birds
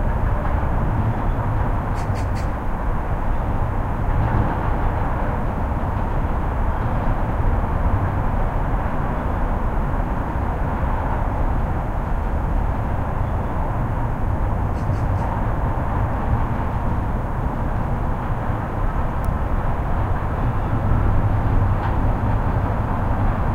0:01.2 0:02.6, 0:14.7 0:15.4

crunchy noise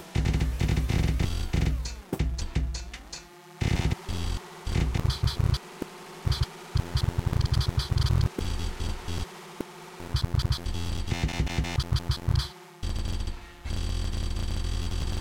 0:00.2 0:05.6

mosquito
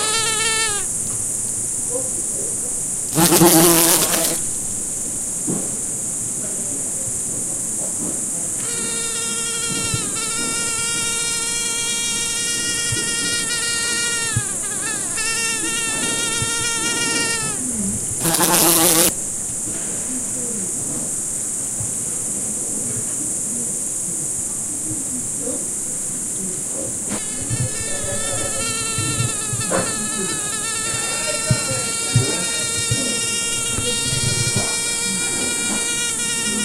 0:00.0 0:01.2, 0:03.1 0:04.5, 0:08.6 0:19.2, 0:27.1 0:36.6

